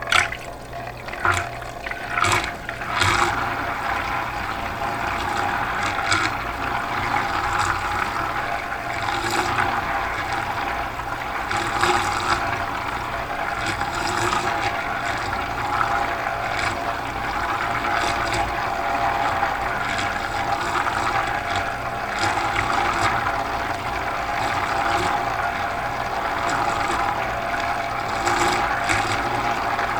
0.0s water 29.9s

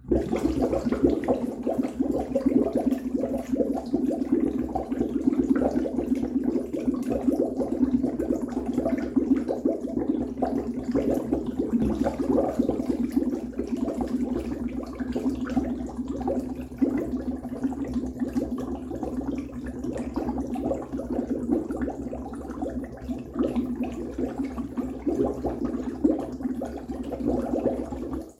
0.0s Bubbling, Large 28.3s

